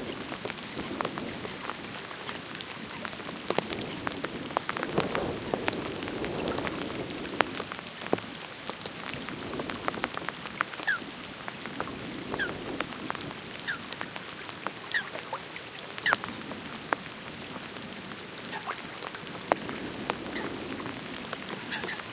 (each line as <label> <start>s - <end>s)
wind rumble 0.0s - 8.3s
raindrops on the windscreen 0.0s - 22.1s
wind rumble 9.0s - 13.8s